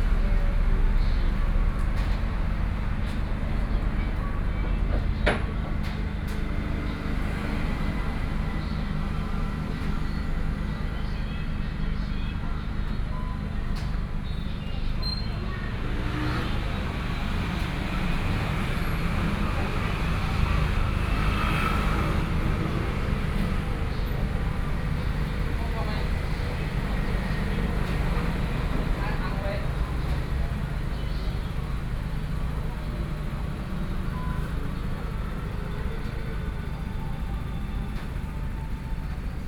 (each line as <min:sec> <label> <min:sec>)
0:00.0 Traffic Sound 0:39.4